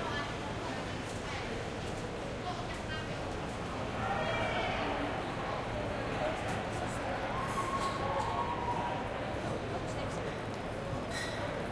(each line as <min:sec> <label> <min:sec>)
0:00.0 pedestrians 0:11.7